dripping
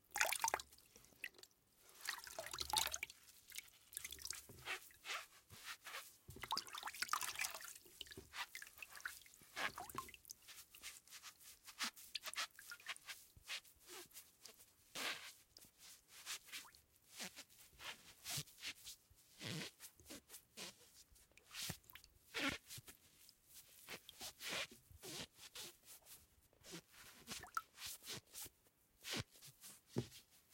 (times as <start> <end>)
0.0 4.5, 6.4 10.3